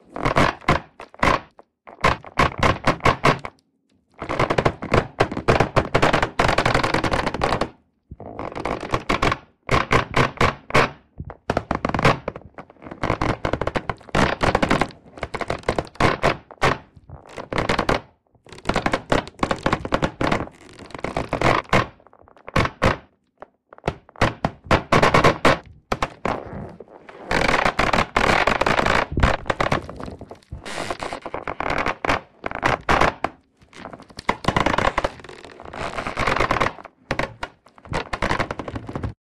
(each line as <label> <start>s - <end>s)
bike bag creaking against the metal frame 25.6s - 39.2s